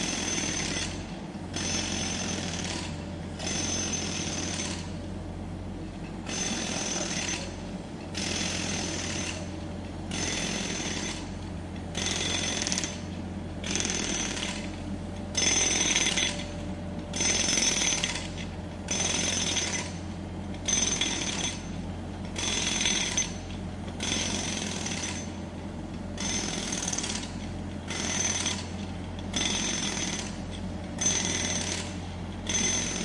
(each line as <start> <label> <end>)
0.0 Jackhammer 4.9
0.0 Road Works 5.2
5.8 Road Works 25.5
6.3 Jackhammer 7.6
8.2 Jackhammer 9.5
10.1 Jackhammer 11.3
12.0 Jackhammer 14.7
15.4 Jackhammer 16.6
17.2 Jackhammer 20.0
20.7 Jackhammer 21.8
22.4 Jackhammer 23.4
24.0 Jackhammer 25.4
26.2 Jackhammer 33.0
26.2 Road Works 33.0